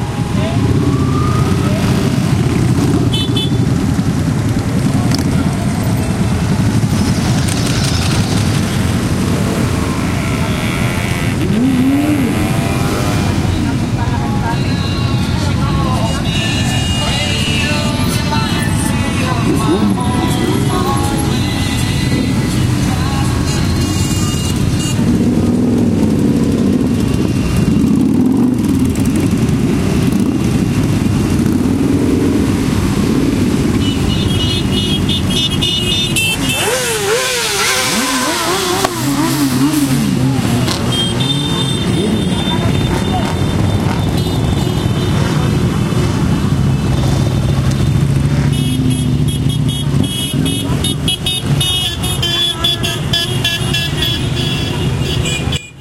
police sirens 0.0 - 2.9
bikes roaring and honking as they pass 0.0 - 55.8
traffic 0.0 - 55.8
voices 9.3 - 24.6
voices 36.2 - 45.6

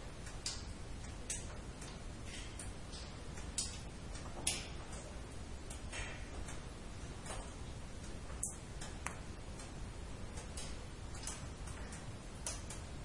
cave waterdrops 0.1 - 13.0

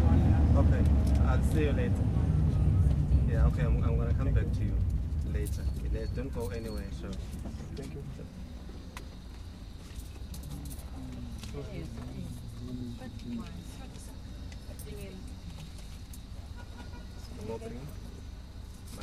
combi taxi 0.0 - 19.0

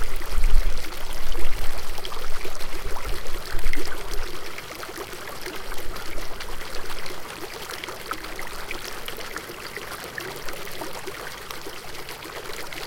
Water feature consisting of several angled spigots 0.0 - 12.8

